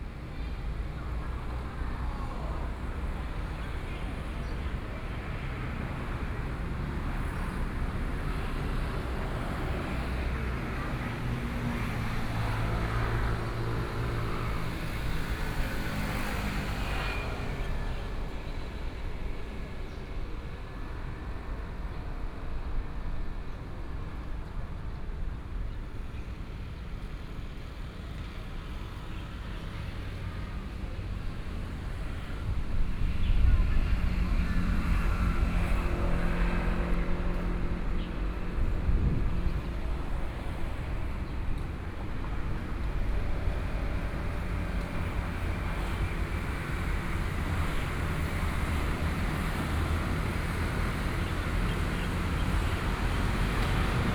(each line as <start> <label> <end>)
0.0 Traffic Sound 54.1